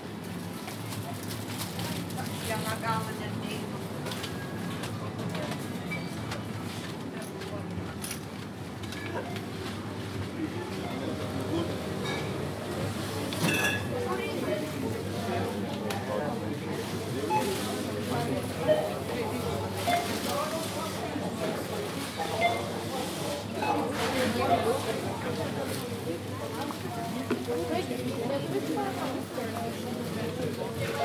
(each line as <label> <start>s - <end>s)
groceries being bagged 0.0s - 5.7s
People in line talking 0.8s - 31.0s
groceries being bagged 16.5s - 31.0s